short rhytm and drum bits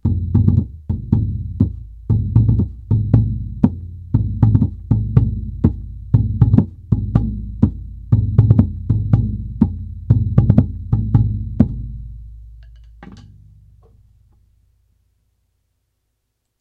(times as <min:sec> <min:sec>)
0:00.0 0:12.0